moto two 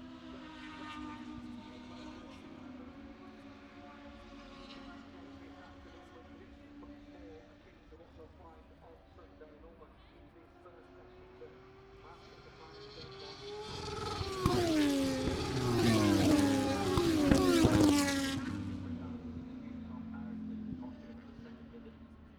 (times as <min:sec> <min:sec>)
0:12.8 0:21.4